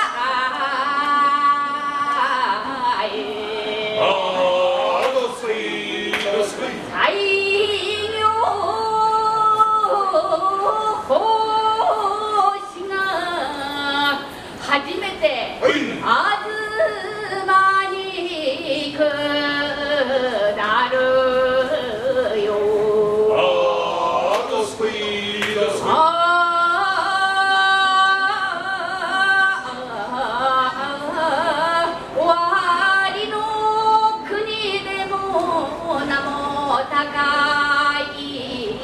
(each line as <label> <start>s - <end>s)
troupe of traditional Japanese performers 0.0s - 7.7s
crowds exit 3.2s - 7.0s
troupe of traditional Japanese performers 19.0s - 30.4s